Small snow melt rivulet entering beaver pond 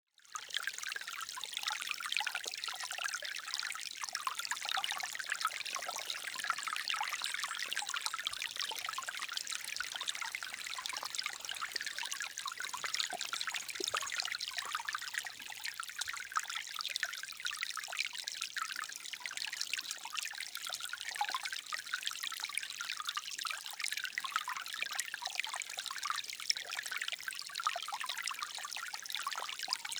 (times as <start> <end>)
2.7 16.8